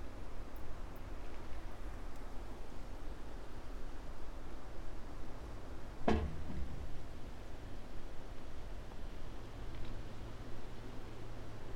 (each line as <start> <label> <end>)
6.0 broken reflector moved by wind, hitting metal column 6.9